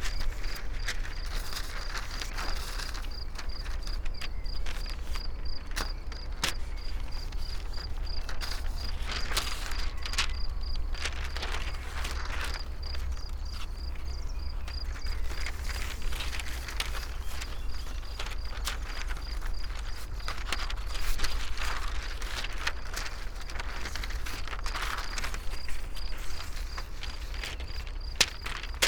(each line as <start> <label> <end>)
0.0 wind unfolds scroll books 28.8